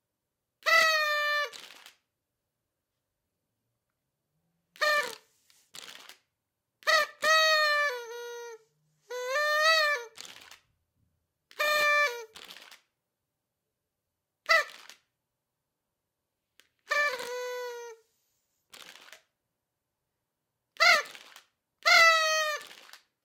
0.6s Party horn 1.9s
4.7s Party horn 5.3s
6.8s Party horn 10.5s
11.5s Party horn 12.6s
14.4s Party horn 15.0s
16.8s Party horn 18.0s
20.8s Party horn 23.0s

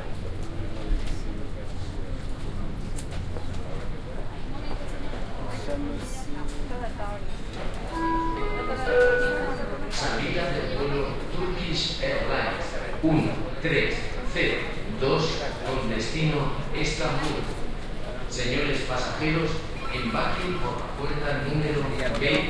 0.0s chatter from the crowd 22.4s
7.9s announcements for the flight departure 12.6s
19.6s announcements for the flight departure 22.4s

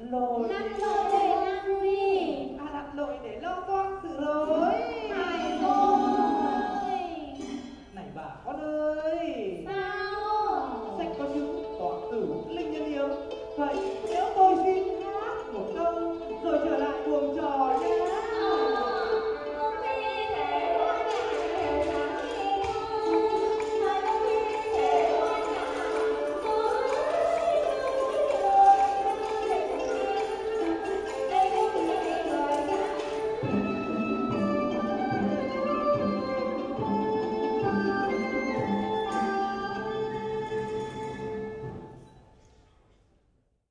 0.0s singing 7.7s
0.0s voices 8.9s
0.0s Traditional Vietnamese theatre and music 42.5s
9.0s singing 33.9s
9.7s voices 33.4s

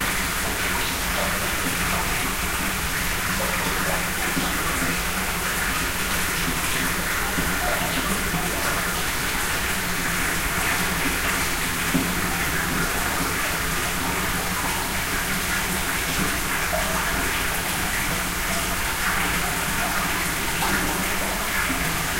0.0s Water flowing inside a spring house 22.1s

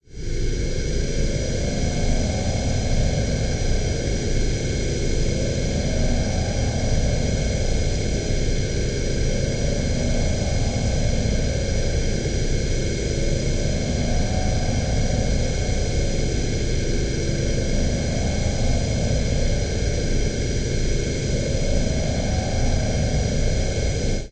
0.1s Steamy space drone 24.3s

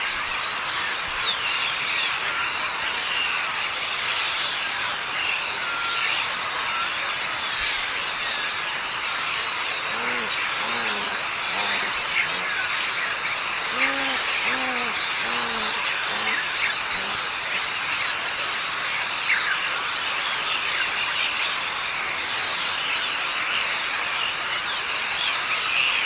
0.0s birds 26.0s

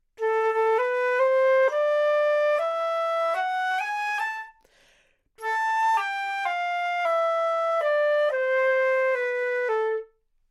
0.1s flute 4.7s
5.4s flute 10.3s

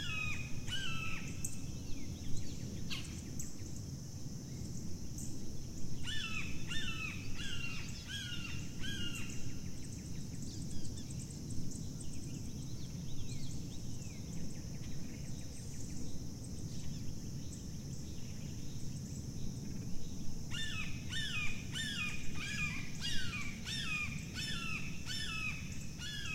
6.0s birds 26.3s

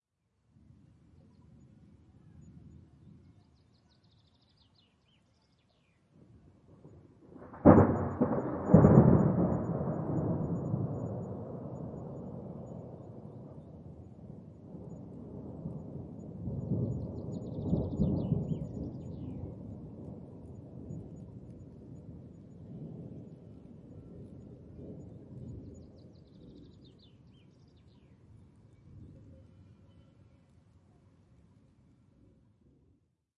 6.8s Thunderclap 26.0s

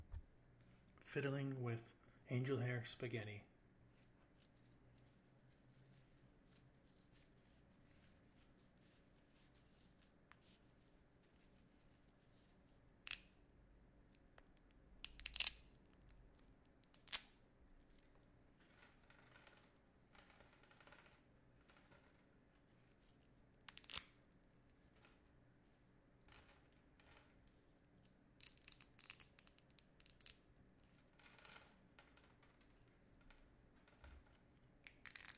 3.9s Fiddling with angel hair spaghetti 12.9s

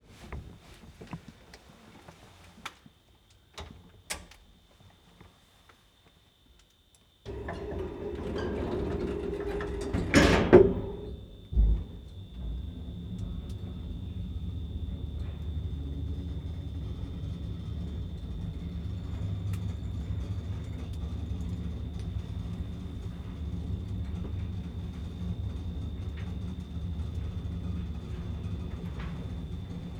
7.3s Elevator 29.9s
7.3s doors 29.9s

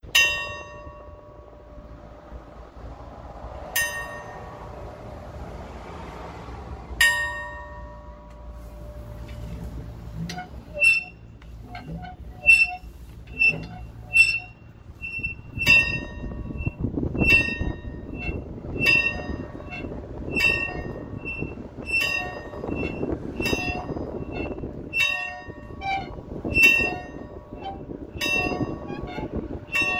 0.0s Distorted and muffled wind noises 29.9s
8.5s pulley squeaks 29.9s

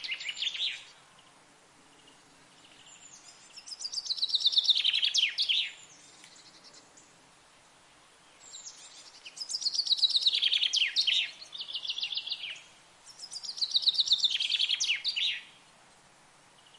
0.0s chaffinch sings high in the tree 1.3s
1.9s chaffinch sings high in the tree 7.2s
8.1s chaffinch sings high in the tree 15.8s

